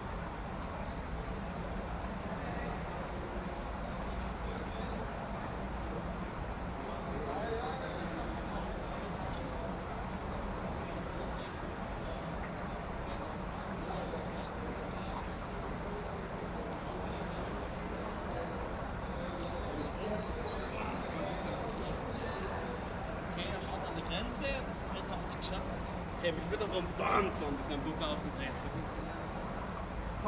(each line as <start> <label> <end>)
0.0 Voices 30.2